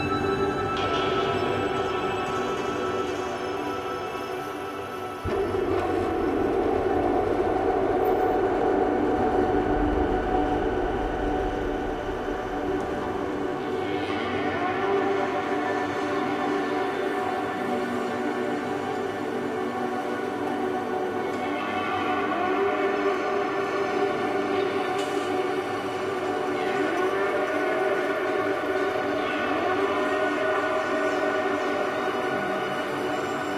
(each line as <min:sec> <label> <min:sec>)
0:00.0 drone 0:19.6